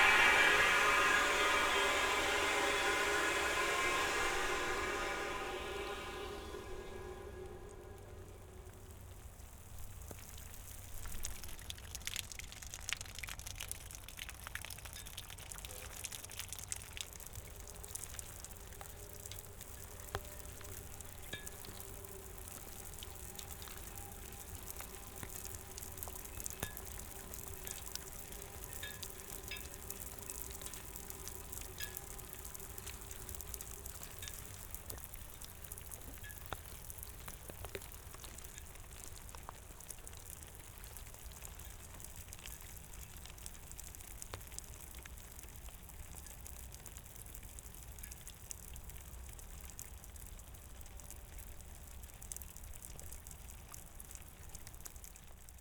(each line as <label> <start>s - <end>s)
watering equipment 0.0s - 55.4s